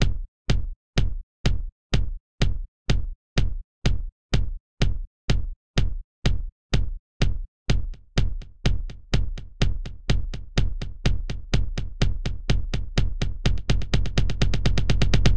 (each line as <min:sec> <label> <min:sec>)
0:00.0 Kick drums 0:15.3